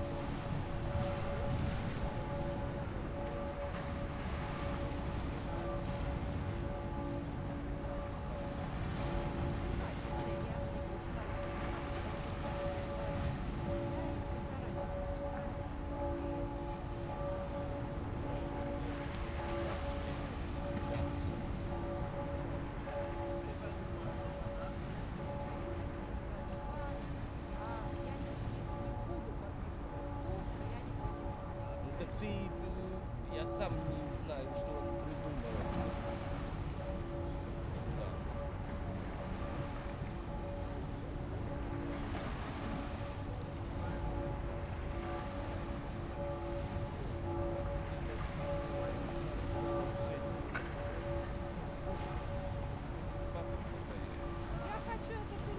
Cathedral bells 0:00.0 - 0:55.5

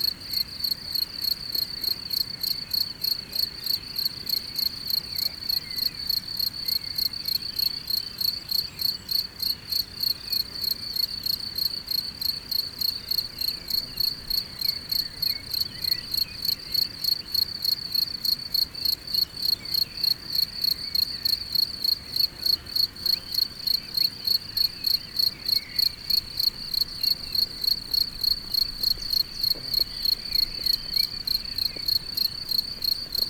Locusts are singing in the grass 0:00.0 - 0:33.2

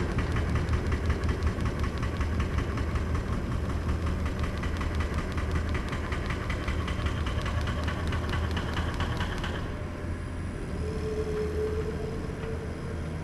excavator with mounted jackhammer demolishes the foundation 0:00.0 - 0:09.8

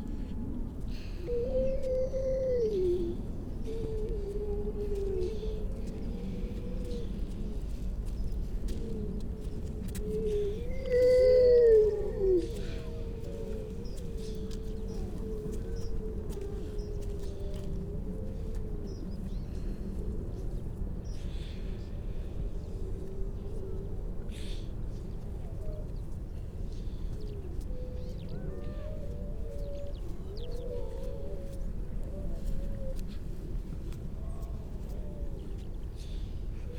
grey seals 0:00.2 - 0:19.6

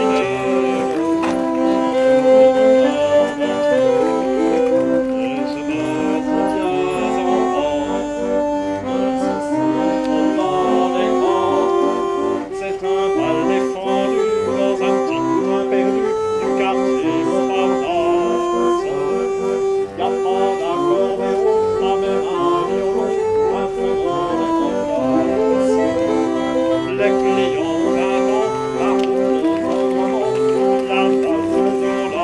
Orgue de Barbarie 0:00.0 - 0:32.2
chanson parisienne 0:00.0 - 0:32.2

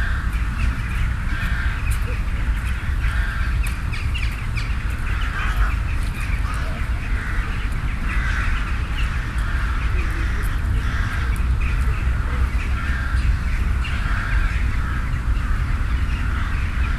Birds 0:00.0 - 0:16.9

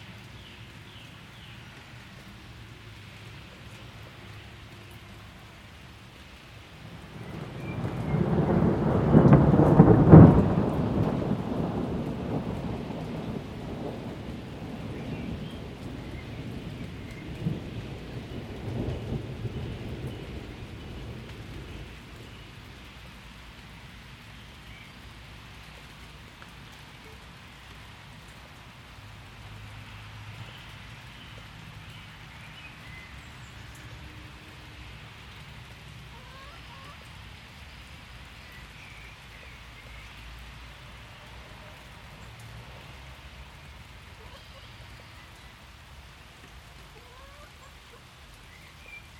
traffic 0:00.0 - 0:07.8
a little light rain 0:00.0 - 0:49.1
Rolling thunder 0:06.8 - 0:22.3
traffic 0:21.7 - 0:49.1

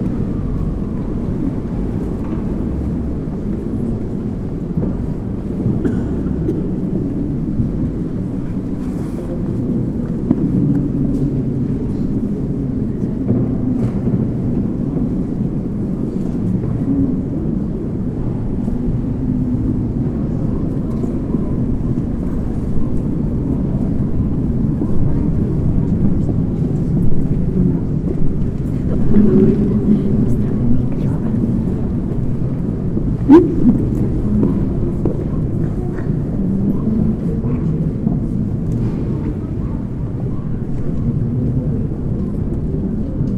people leaving the church 0:00.0 - 0:43.3

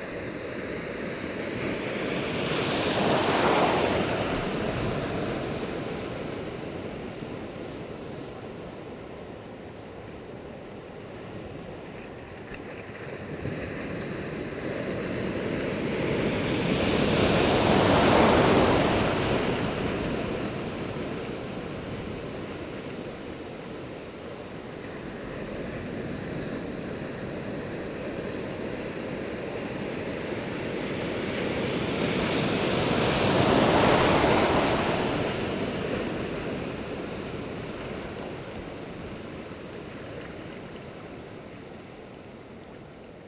Big waves are rolling and wheeling along the jetty 0:00.0 - 0:43.2

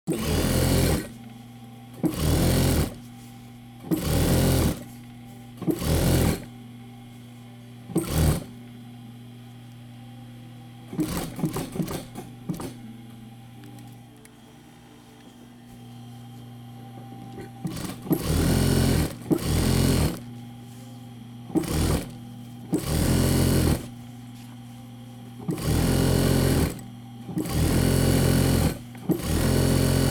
operating the old sewing machine 0:00.1 - 0:01.1
operating the old sewing machine 0:02.0 - 0:03.0
operating the old sewing machine 0:03.8 - 0:04.9
operating the old sewing machine 0:05.6 - 0:06.5
operating the old sewing machine 0:07.9 - 0:08.5
operating the old sewing machine 0:10.9 - 0:12.8
operating the old sewing machine 0:17.6 - 0:20.3
operating the old sewing machine 0:21.5 - 0:23.9
operating the old sewing machine 0:25.4 - 0:30.1

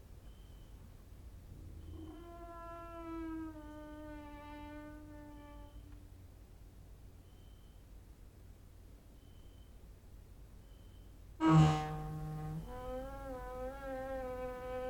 cricket outside 0:00.2 - 0:00.9
cricket outside 0:01.7 - 0:06.0
creaking with wooden doors 0:01.7 - 0:06.0
cricket outside 0:07.2 - 0:07.9
cricket outside 0:09.1 - 0:09.9
cricket outside 0:10.6 - 0:11.2
creaking with wooden doors 0:11.4 - 0:14.8

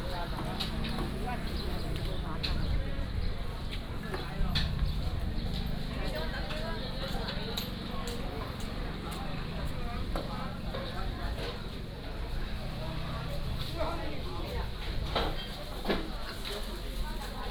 Traffic Sound 0:00.0 - 0:15.3
Walking through the market 0:00.0 - 0:17.5

